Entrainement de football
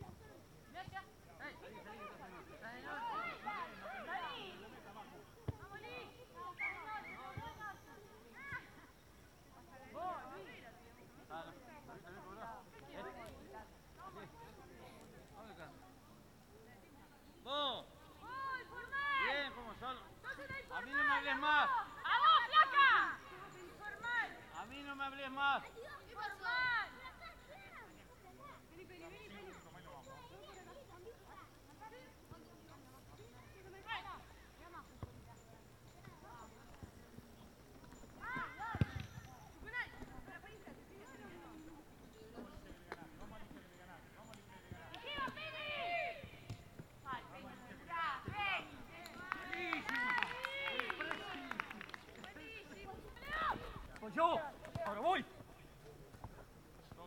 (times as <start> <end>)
36.0 41.4